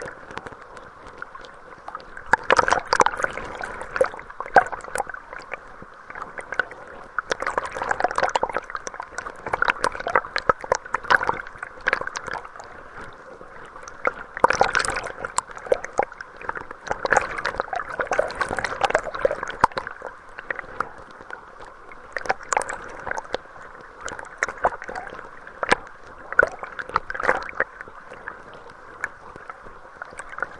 waterfall 0.0 - 30.5

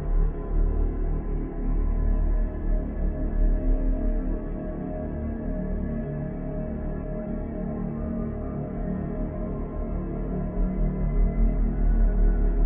dark drone 0.0 - 12.6

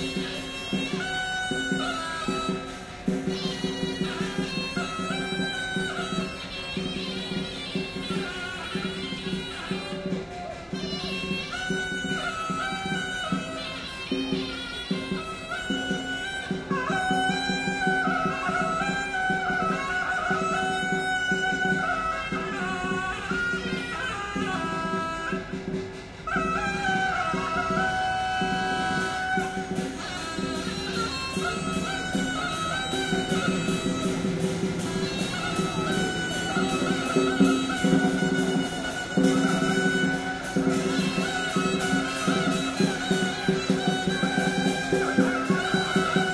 Suona 0.0 - 46.3

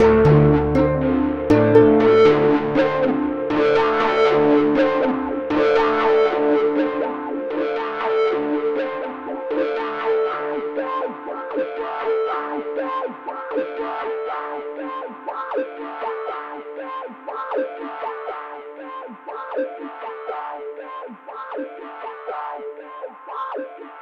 distorted keyboard comp 0.0 - 24.0

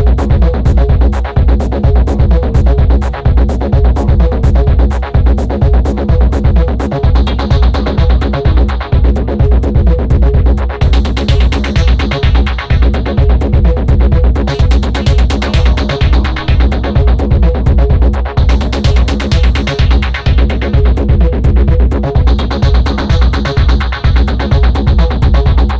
Acid jam 0.1 - 25.7

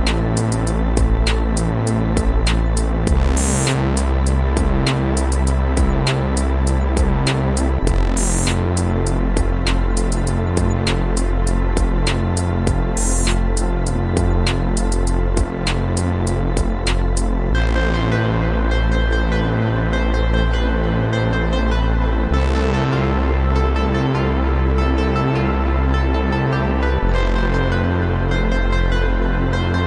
laser 0.0 - 17.4
synth 0.0 - 29.8

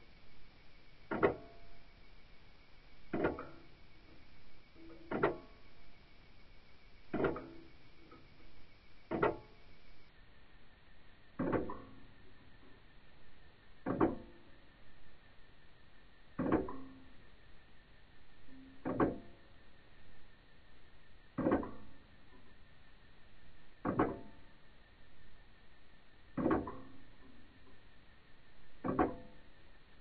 Small tabletop clock ticking away, slower and slower 1.1 - 1.8
Small tabletop clock ticking away, slower and slower 3.1 - 3.8
Small tabletop clock ticking away, slower and slower 4.8 - 5.6
Small tabletop clock ticking away, slower and slower 7.1 - 8.3
Small tabletop clock ticking away, slower and slower 9.1 - 9.6
Small tabletop clock ticking away, slower and slower 11.4 - 12.0
Small tabletop clock ticking away, slower and slower 13.8 - 14.5
Small tabletop clock ticking away, slower and slower 16.4 - 17.1
Small tabletop clock ticking away, slower and slower 18.5 - 19.4
Small tabletop clock ticking away, slower and slower 21.4 - 22.4
Small tabletop clock ticking away, slower and slower 26.3 - 27.8

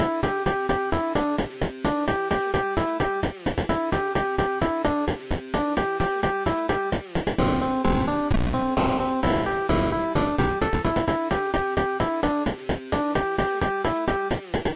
chiptune 0.0 - 14.7

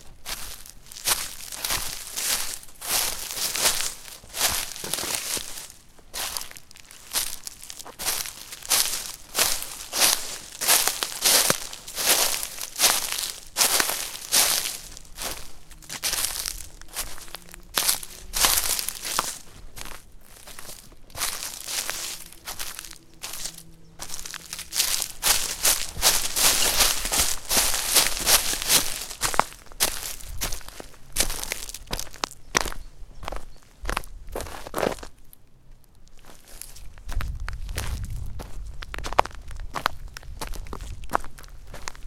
Walking on gravel and leaves 0.0 - 42.0

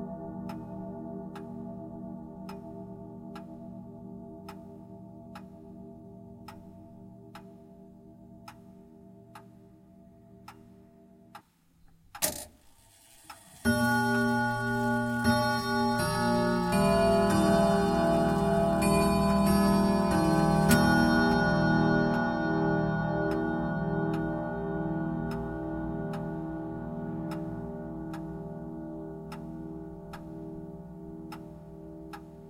grandfather clock chimes 13.2 - 31.4

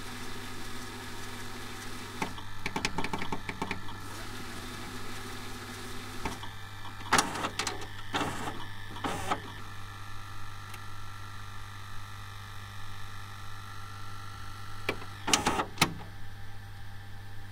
VHS player 0.0 - 9.8
VHS player 14.7 - 16.3

